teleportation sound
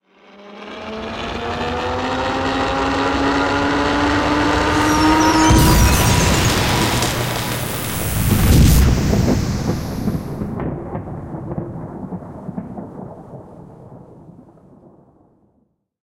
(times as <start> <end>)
4.0 10.6